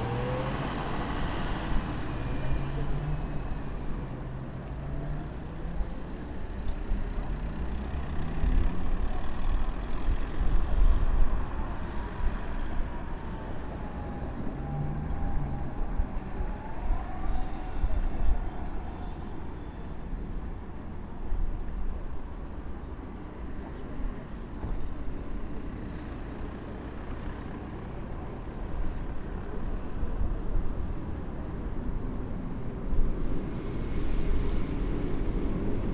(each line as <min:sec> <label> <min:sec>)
0:00.0 Light wind 0:35.9
0:00.0 cars passing by 0:35.9